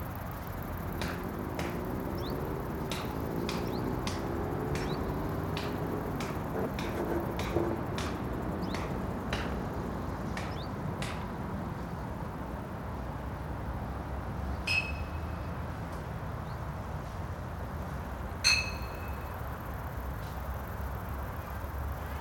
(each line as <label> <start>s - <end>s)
Traffic in the distance 0.0s - 22.2s
crickets 0.0s - 22.2s
birds 0.1s - 10.8s